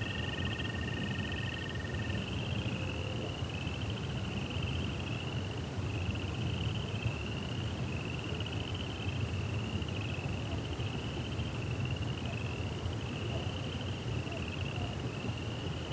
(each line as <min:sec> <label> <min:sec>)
0:00.0 cricket are singing 0:15.9